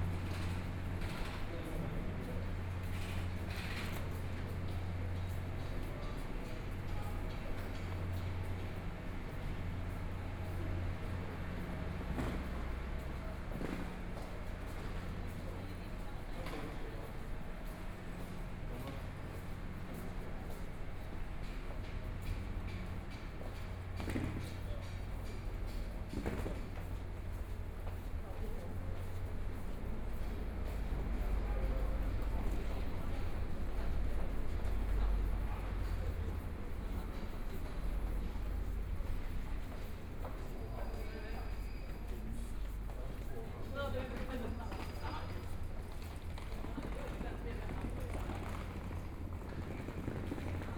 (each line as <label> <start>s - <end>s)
Walking through the Station 0.0s - 50.7s